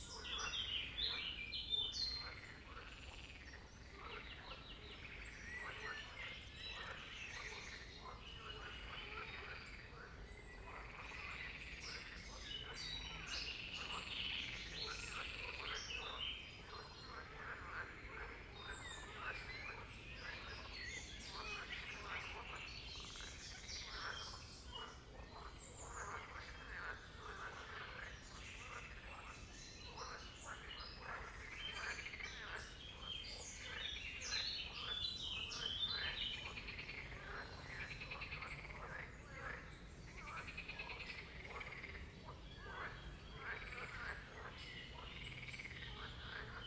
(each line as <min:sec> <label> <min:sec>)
0:00.0 birdsong 0:46.6
0:02.1 frog croaking 0:29.3
0:29.9 frog croaking 0:46.6